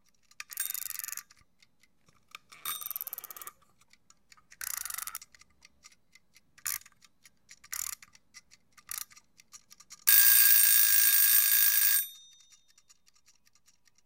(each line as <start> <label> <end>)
0.0 Egg timer - three long turns, three short turns 14.0
0.0 Timer ticking 14.0
10.1 alarm on egg timer goes off 12.8